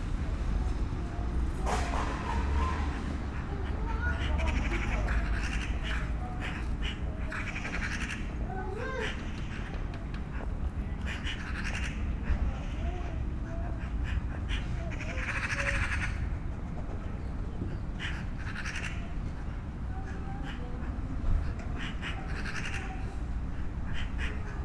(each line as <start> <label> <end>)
2.1 10 magpies in a tree 9.9
11.0 10 magpies in a tree 16.4
17.8 10 magpies in a tree 19.2
19.9 10 magpies in a tree 24.6